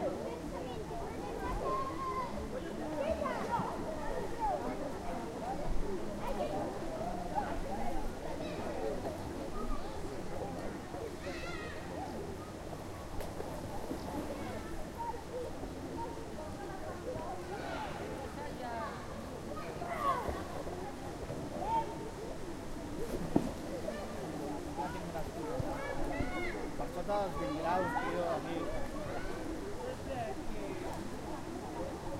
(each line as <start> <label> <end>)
0.0 children paying in a public swimming pool 32.1